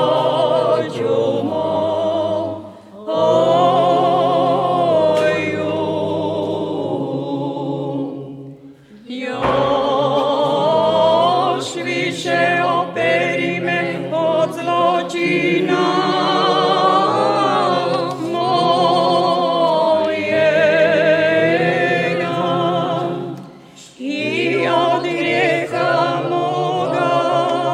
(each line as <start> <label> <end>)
0.0 liturgical singing 27.7